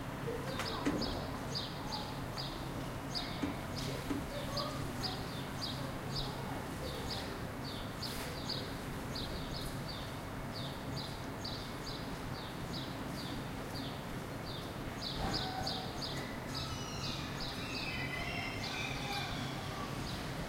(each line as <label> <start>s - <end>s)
People 0.2s - 8.7s
Birds 0.2s - 20.4s